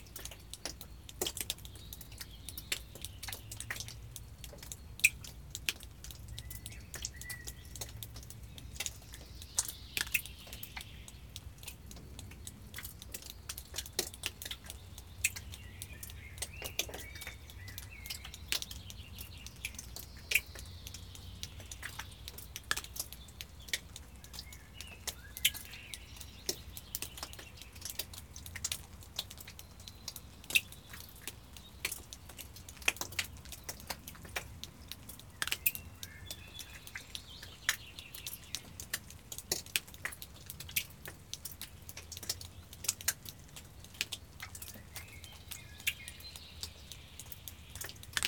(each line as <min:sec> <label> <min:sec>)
0:00.0 water drips from the roof 0:48.2